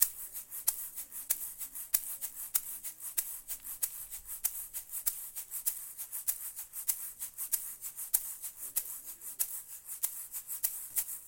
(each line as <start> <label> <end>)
0.0 egg shaker with an open hand 11.2